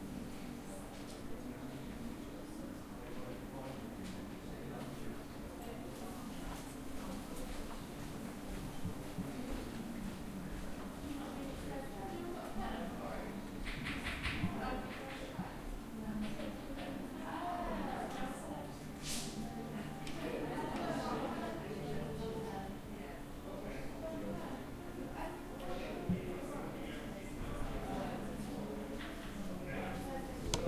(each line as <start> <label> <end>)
13.4 students 30.6